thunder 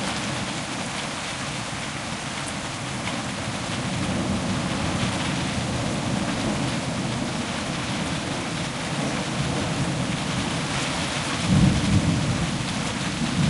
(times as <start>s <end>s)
11.4s 13.4s